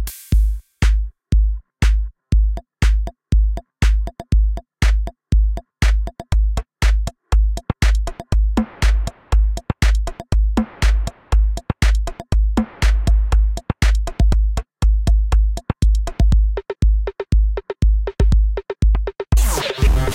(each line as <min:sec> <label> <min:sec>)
0:00.0 Easy Electronic Beat 0:20.1